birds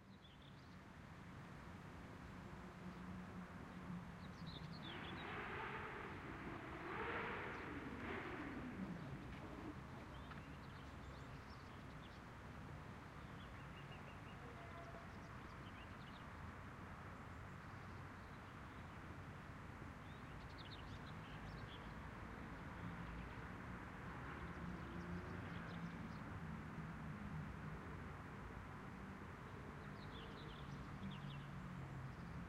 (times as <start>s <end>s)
3.8s 12.3s